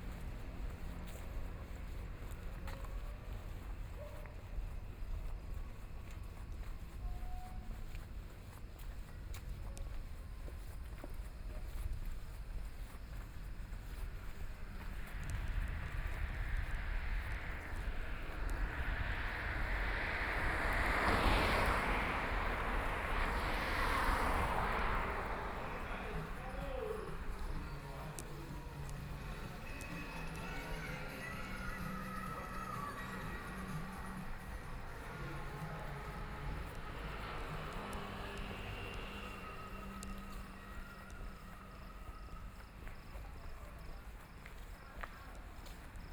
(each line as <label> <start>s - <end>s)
Traffic Sound 0.0s - 46.1s